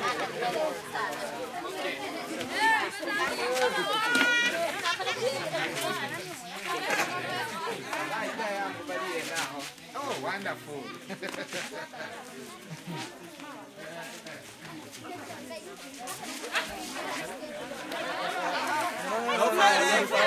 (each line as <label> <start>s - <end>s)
busy walla voices 0.0s - 20.2s
kids 0.0s - 20.2s